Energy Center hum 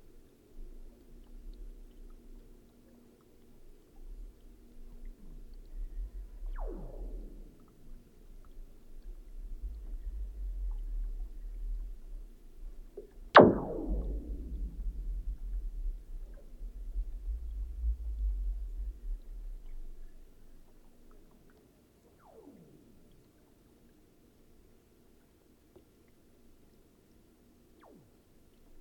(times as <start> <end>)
5.6 20.8